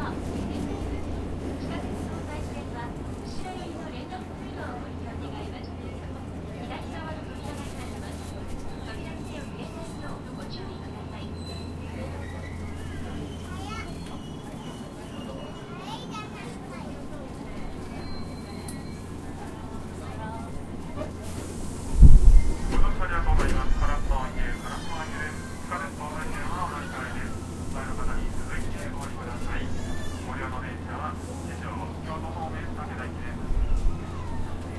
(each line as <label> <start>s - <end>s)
people 0.0s - 34.7s
subway 0.0s - 34.7s